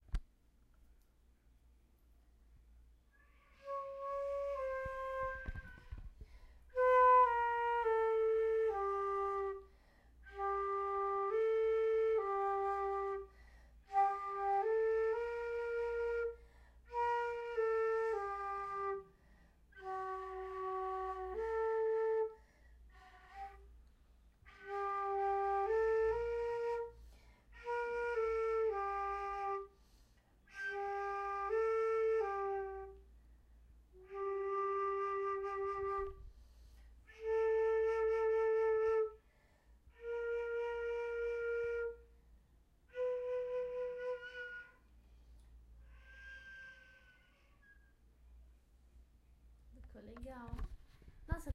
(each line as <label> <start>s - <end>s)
flute 3.1s - 48.1s